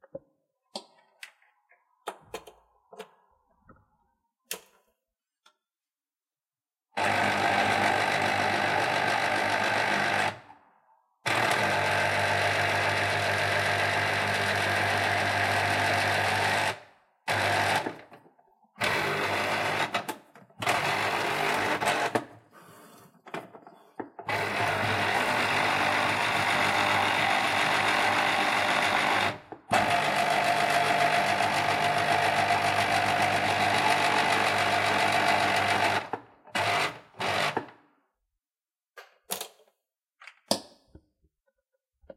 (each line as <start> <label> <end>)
7.0 electric juicer 10.5
11.3 electric juicer 22.3
24.0 electric juicer 37.8